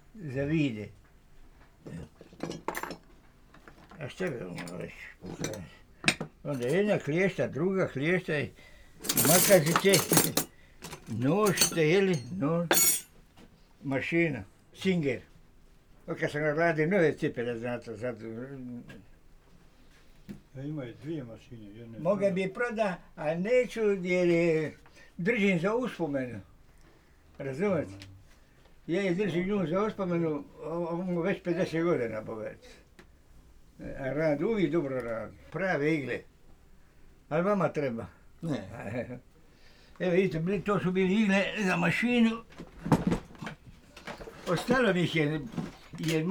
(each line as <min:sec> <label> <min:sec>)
0:04.0 demonstrating his tools 0:05.8
0:06.4 demonstrating his tools 0:07.4
0:09.0 demonstrating his tools 0:13.1